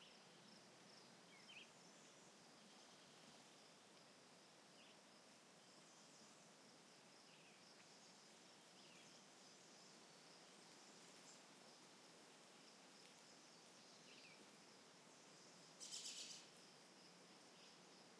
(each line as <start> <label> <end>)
0.0 bugs 18.1
15.2 birds 16.6